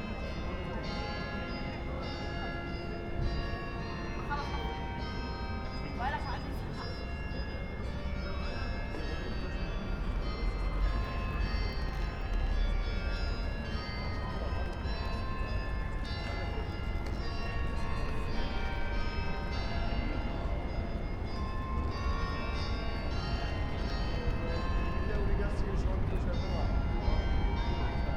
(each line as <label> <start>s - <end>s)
bells 0.0s - 28.1s
trams 0.0s - 28.1s